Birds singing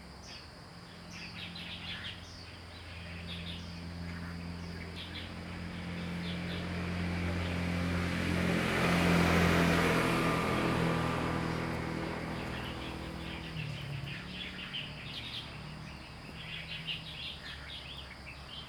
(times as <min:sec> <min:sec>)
0:11.0 0:18.6